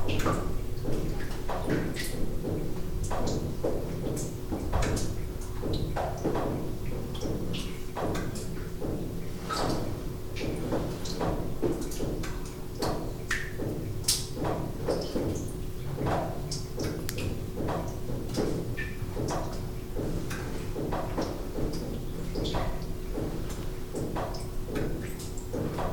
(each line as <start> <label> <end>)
0.0 Water dripping within the tunnel 25.9